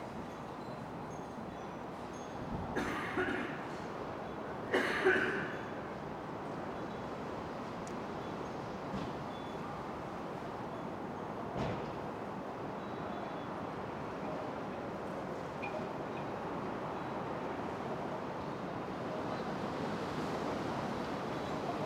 wind chimes 0:00.1 - 0:02.6

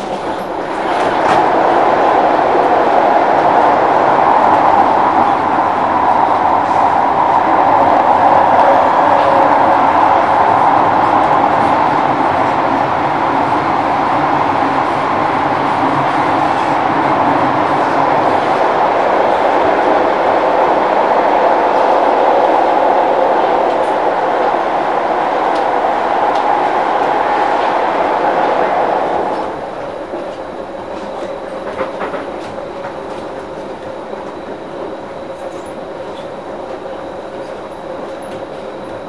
train 0:00.0 - 0:39.0

